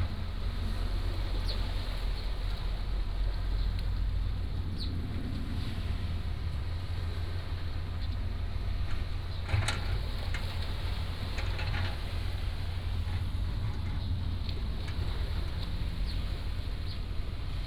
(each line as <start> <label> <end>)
0.0 waves 17.6
1.2 Birds singing 3.8
7.8 Excavators 17.3
13.1 Birds singing 17.6